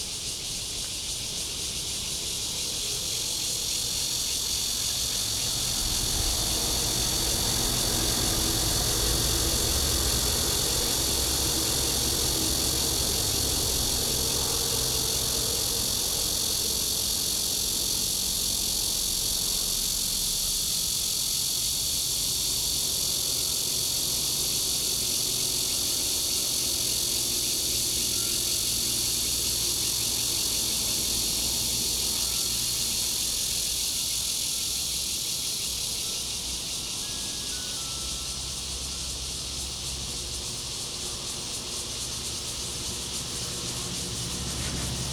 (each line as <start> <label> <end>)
0.0 Cicadas 45.1
1.3 train running through 45.1
1.9 Traffic sound 45.1
3.5 Garbage truck passes 34.3
35.7 Garbage truck passes 45.1